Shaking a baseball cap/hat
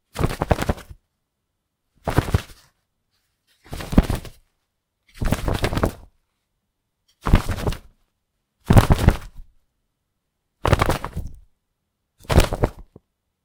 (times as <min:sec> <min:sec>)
0:00.1 0:01.0, 0:02.0 0:04.5, 0:05.1 0:06.1, 0:07.2 0:07.9, 0:08.7 0:09.4, 0:10.6 0:11.4, 0:12.2 0:13.0